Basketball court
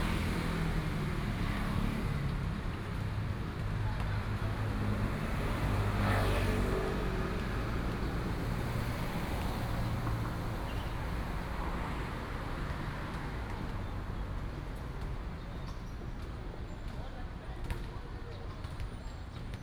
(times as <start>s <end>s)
14.4s 19.6s